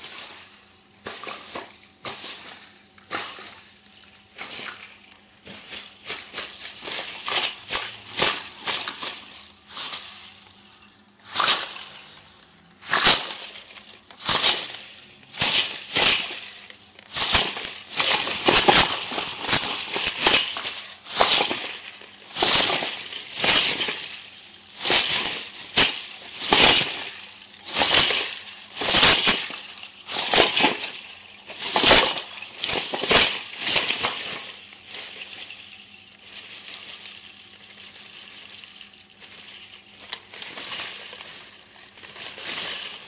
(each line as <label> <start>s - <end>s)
jangle 0.0s - 43.0s